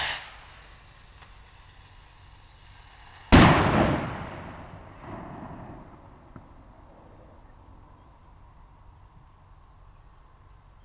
0.0s Bird scarer rocket 0.4s

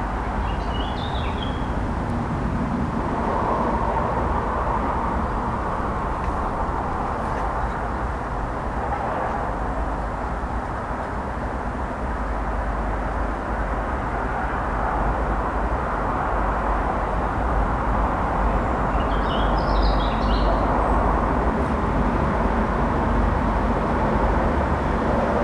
0.0s road traffic noise 25.4s
0.3s birds 1.8s
18.8s birds 21.1s

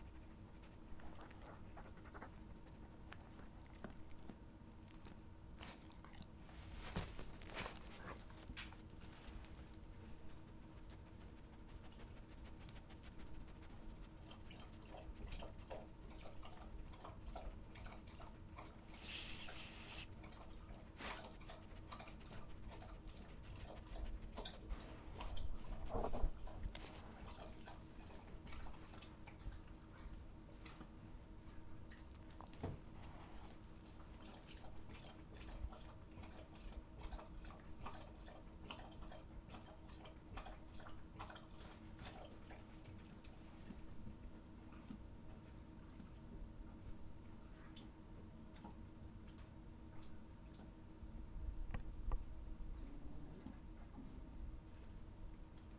12.8s Dogs eating bones 19.0s
20.1s Dogs eating bones 43.9s

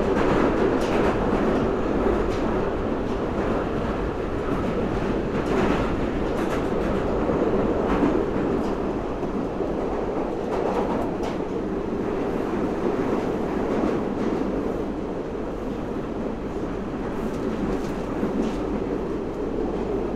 0.0s Underground train 20.1s

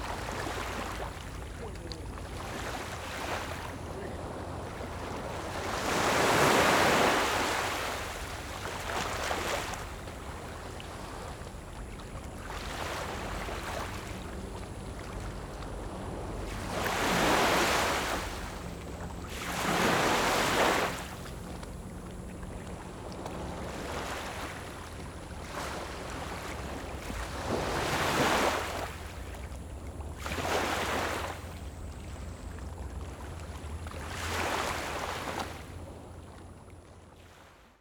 0.0s waves 37.8s

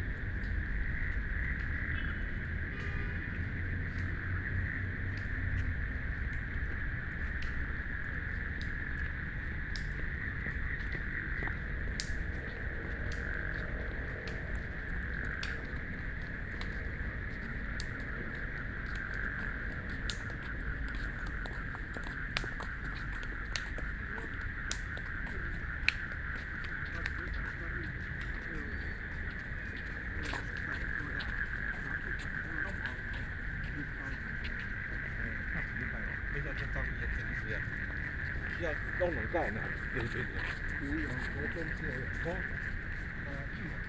0.0s Frogs sound 43.8s
0.0s People walking and running 43.8s
0.0s Traffic Sound 43.8s

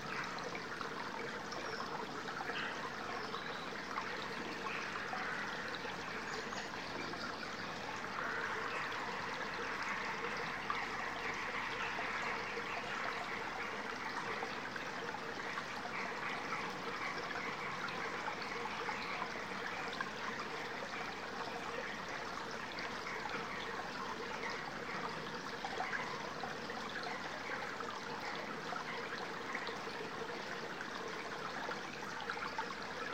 0.0s tiny stream 33.1s

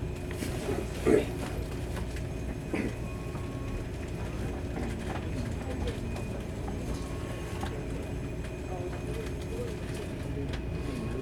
0.0s On the train 11.2s

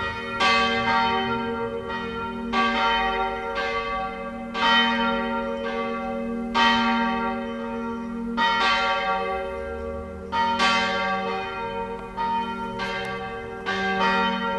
0.0s churchbells 14.5s
11.4s footsteps 14.0s

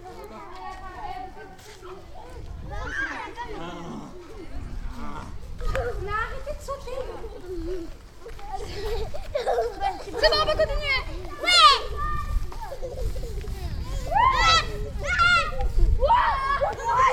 0.0s kids are having fun running and jumping in giant safety nets 17.1s
0.0s parents are making comments 17.1s

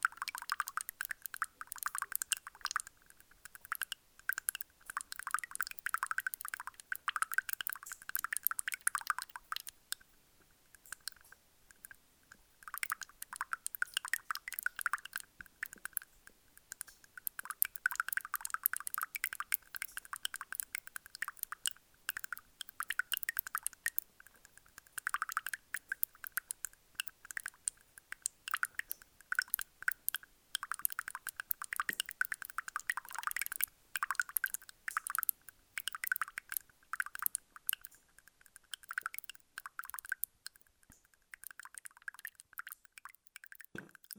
0.0s small stream makes strange noises inside the gravels 44.1s

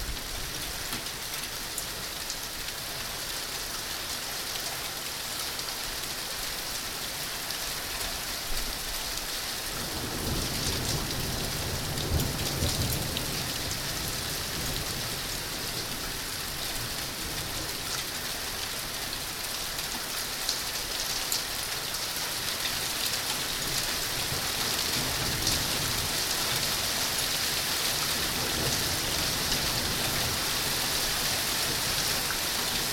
0.0s rain that turns into hail 3.8s
7.6s rain that turns into hail 32.9s

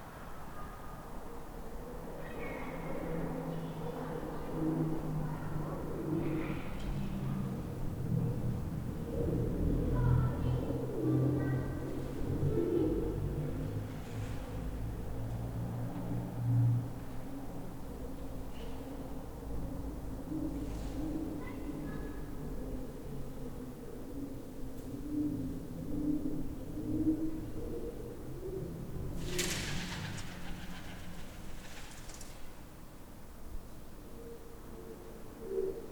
9.8s people speaking 13.1s
29.2s Pigeons calling and flying 32.4s

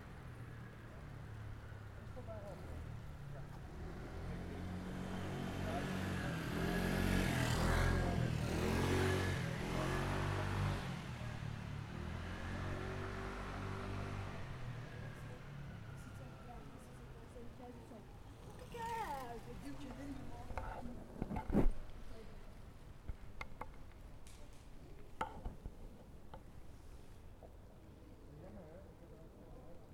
0.1s scooters that pass by 20.9s

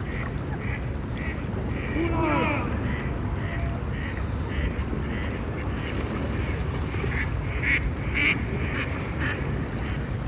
0.0s sports rowers train in an eight oars with coxswain 10.2s
1.7s Voices of children echoing over the water surface 4.6s

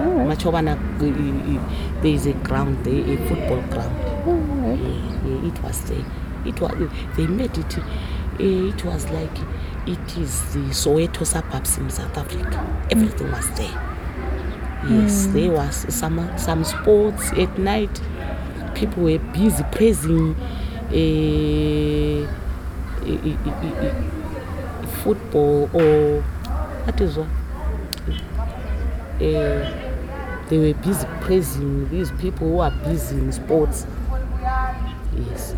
0.0s interview 14.0s
0.0s drone of the nearby road 35.5s
0.0s voices from the other women inside the room 35.5s
14.8s interview 35.5s

